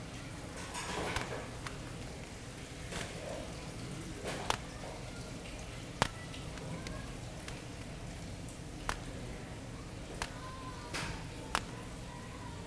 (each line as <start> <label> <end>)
10.1 plastic sheeting 12.2